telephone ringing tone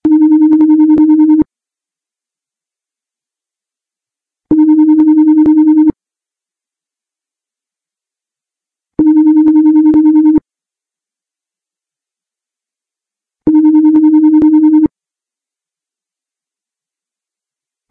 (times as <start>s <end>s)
0.0s 1.4s, 4.5s 5.9s, 9.0s 10.4s, 13.5s 14.9s